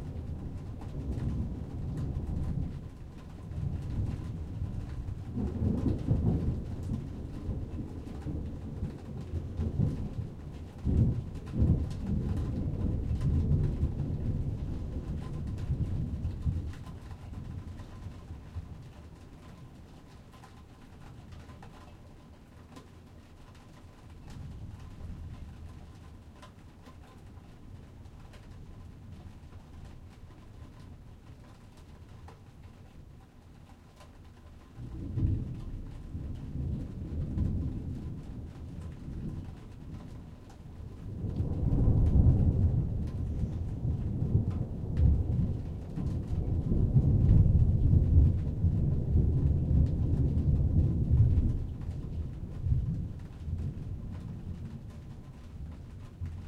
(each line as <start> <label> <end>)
0.0 thunder 19.5
0.0 rain 56.4
34.8 thunder 56.4